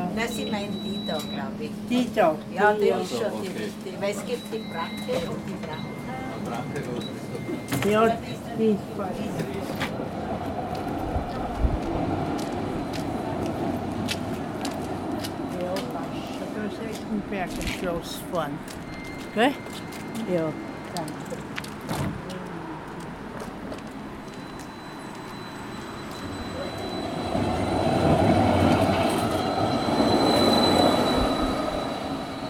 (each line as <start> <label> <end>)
0.0 Tram Journey 32.4